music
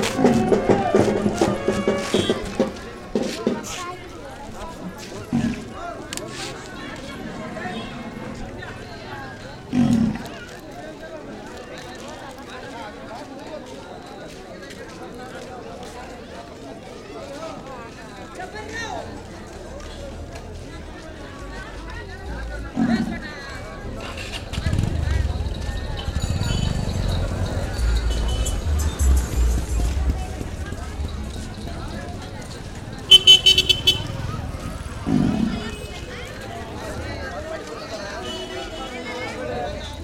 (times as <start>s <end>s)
0.0s 3.6s, 26.1s 31.7s